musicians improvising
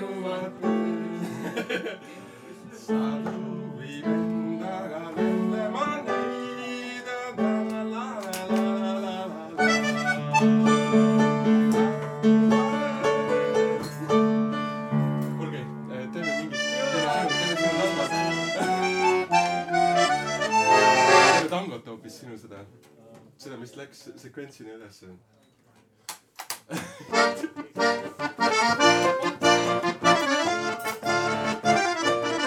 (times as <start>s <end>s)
9.6s 21.5s, 26.7s 32.4s